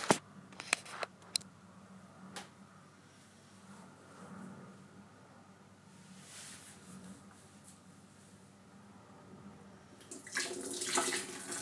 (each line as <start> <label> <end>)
10.0 flushing the toilet 11.6
10.1 washing my hands 11.6